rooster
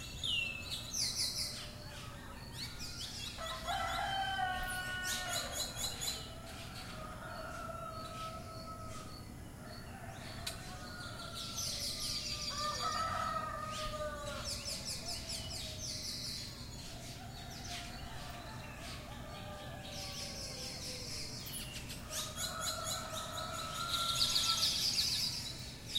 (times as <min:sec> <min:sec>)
0:03.4 0:09.1